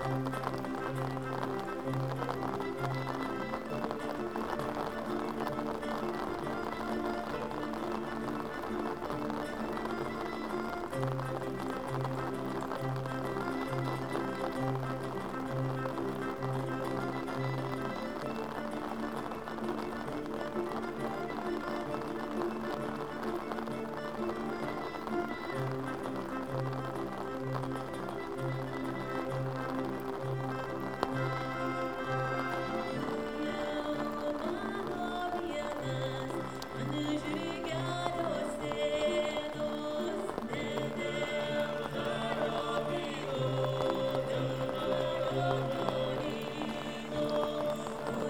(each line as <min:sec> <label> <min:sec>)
0:00.0 rain 0:48.2
0:00.0 vocal ensemble 0:48.2